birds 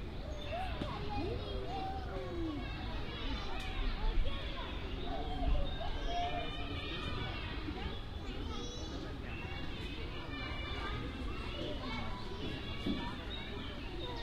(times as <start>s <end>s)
0.1s 1.6s, 11.6s 14.2s